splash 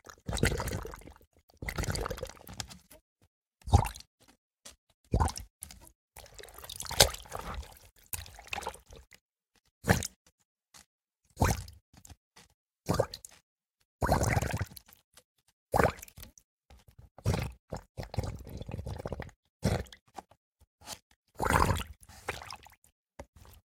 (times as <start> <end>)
6.3 8.8